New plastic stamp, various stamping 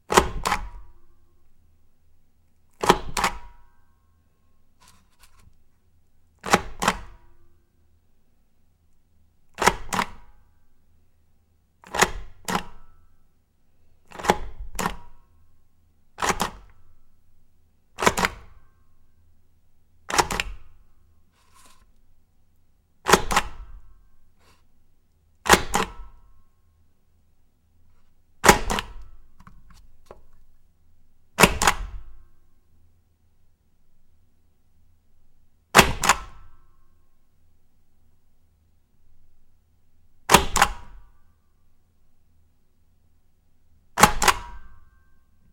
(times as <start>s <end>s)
14.1s 15.1s, 18.0s 18.6s